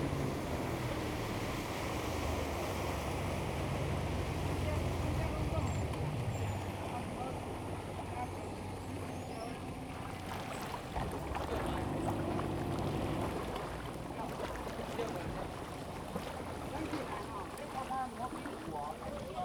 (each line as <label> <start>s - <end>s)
Yacht 0.0s - 19.4s
Lake voice 9.3s - 19.4s